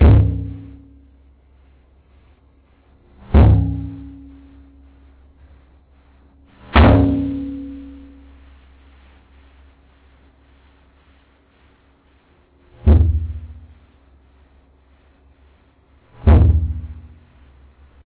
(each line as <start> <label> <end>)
6.8 Hitting bathtub inside and outside with my Fist 7.5
16.2 Hitting bathtub inside and outside with my Fist 17.1